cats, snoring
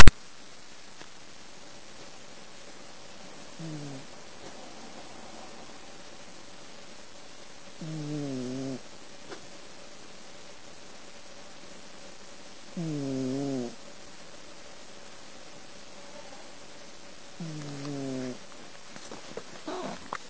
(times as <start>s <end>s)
3.6s 5.8s, 7.8s 8.9s, 12.7s 13.8s, 17.4s 18.4s, 19.6s 20.2s